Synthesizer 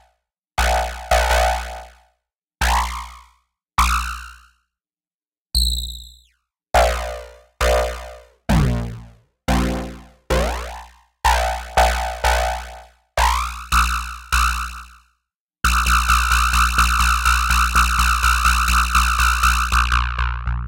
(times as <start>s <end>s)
8.5s 10.9s